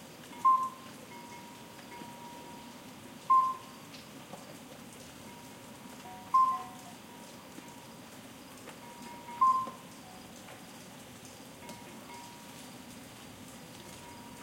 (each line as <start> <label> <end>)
0.0 Soft rain 14.4
0.0 crickets 14.4
0.3 distant cowbell noise 3.8
5.2 distant cowbell noise 8.0
8.8 distant cowbell noise 10.4
11.6 distant cowbell noise 12.7
13.8 distant cowbell noise 14.4